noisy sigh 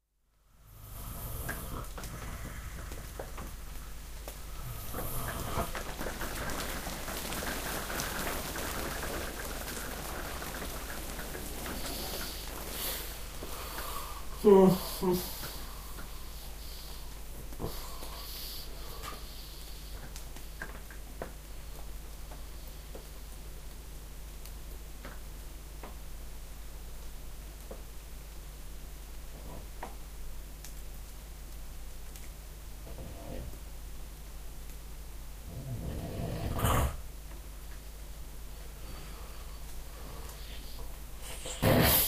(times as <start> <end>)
11.6 17.0